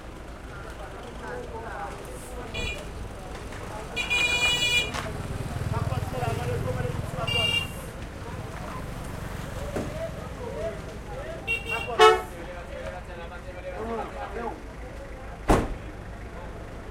light crowd 0.0 - 16.9
motorcycles pass 2.8 - 11.7

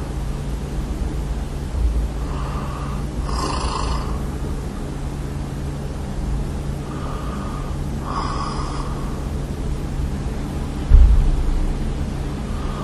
Moving while I sleep 2.0 - 5.0
breath 2.2 - 3.2
breath 6.8 - 9.4
breath 12.5 - 12.8

